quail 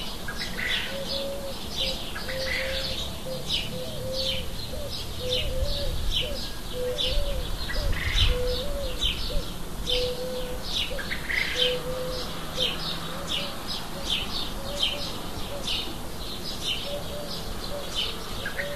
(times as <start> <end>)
6.8 12.3